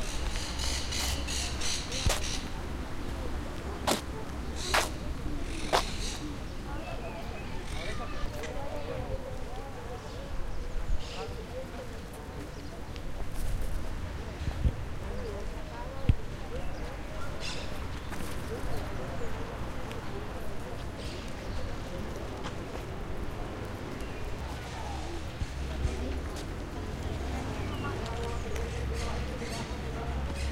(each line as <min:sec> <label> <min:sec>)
0:00.0 Birds 0:03.2
0:04.3 Birds 0:09.2
0:15.0 Birds 0:22.5
0:23.2 Birds 0:30.5